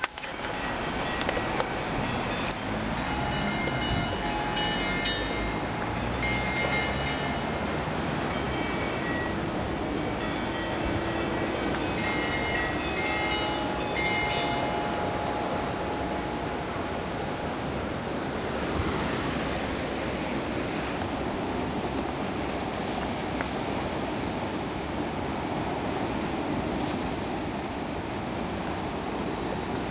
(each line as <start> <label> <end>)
0.5 musical chimes of the church clock 9.5
10.2 musical chimes of the church clock 16.7